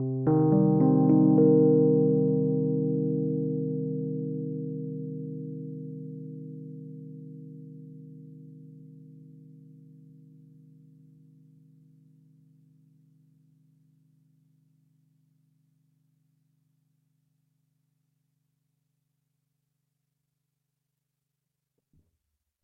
0.0s Arpeggio chord played on a 1977 Rhodes MK1 13.0s

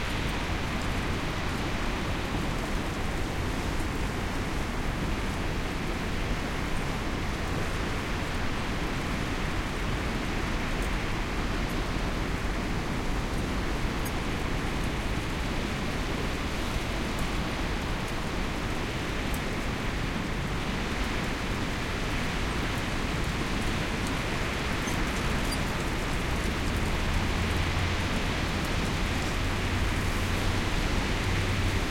0.0s Sea 31.9s
0.0s Wind 31.9s

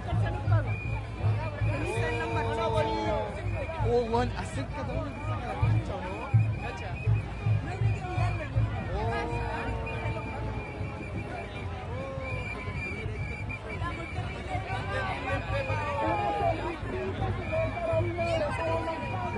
0.0s drums 15.5s
0.0s crowd 19.3s

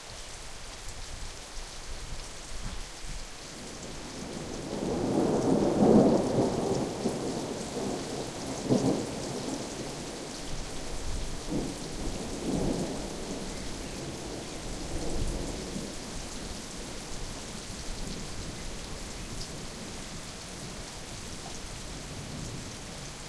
0.0s rain 23.2s
4.3s thunder 9.7s

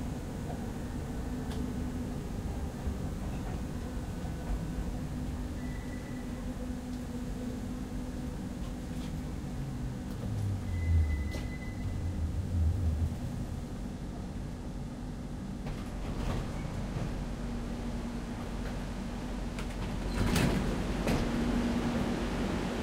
0.0s Interior of a subway car 22.8s

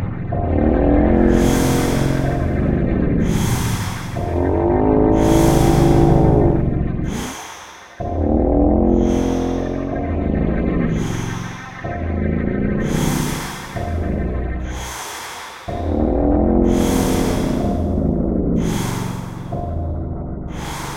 0.0s Drone 20.9s

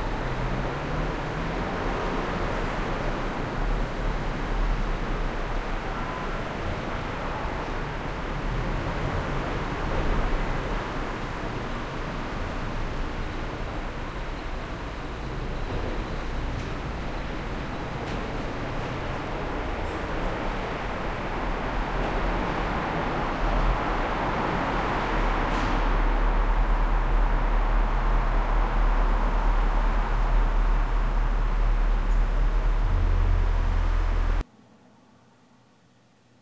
0.0s cars 34.5s

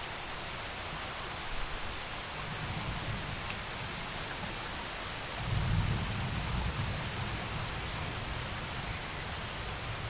0.0s rain 10.0s

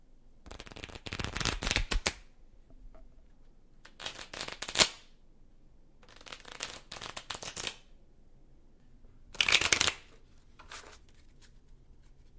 0.5s shuffling cards 2.2s
3.9s shuffling cards 5.0s
6.0s flipping the cards all at once onto the floor 7.8s
6.0s shuffling cards 7.8s
9.4s flipping the cards all at once onto the floor 12.2s
9.4s shuffling cards 12.3s

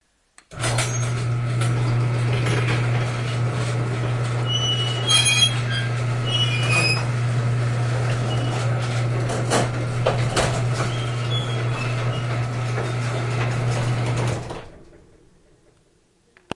0.5s Squeaky Garage Door Open 15.2s

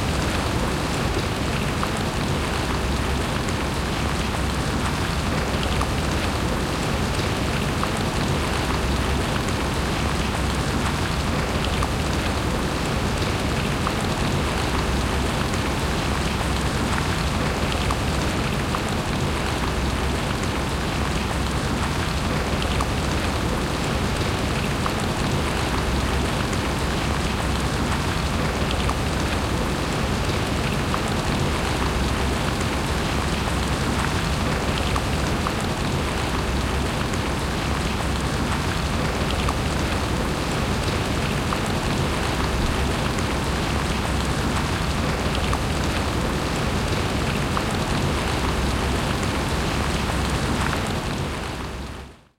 0.0s Heavy rain on the ground, grass, murmuring and squelching 52.3s

